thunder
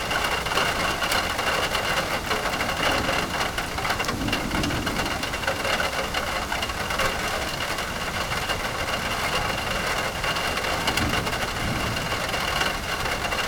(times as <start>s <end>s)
2.7s 6.3s, 10.2s 13.4s